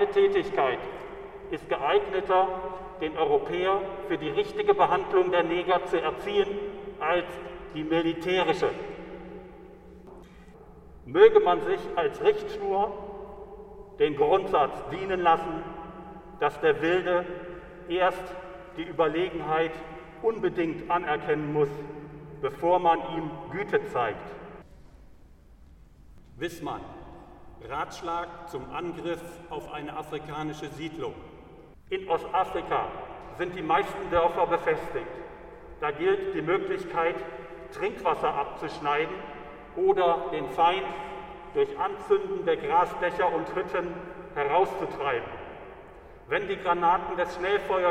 0.0s Echos 47.9s

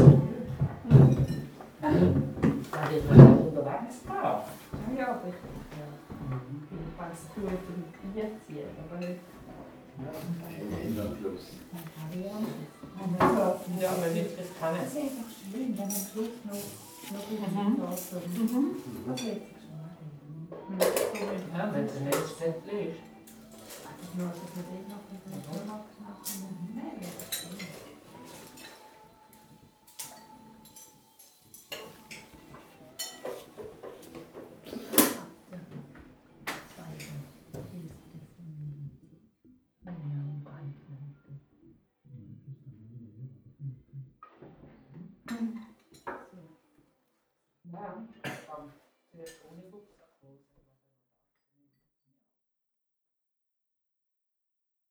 0.0s Percussive accents of plates and dishes 3.6s
0.0s hotel guests talking while eating their breakfast 38.8s
23.0s Percussive accents of plates and dishes 35.5s
45.3s hotel guests talking while eating their breakfast 46.8s
48.2s hotel guests talking while eating their breakfast 50.2s

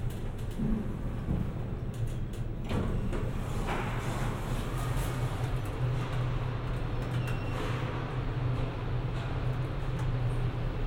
0.0s Traveling by elevator 10.8s

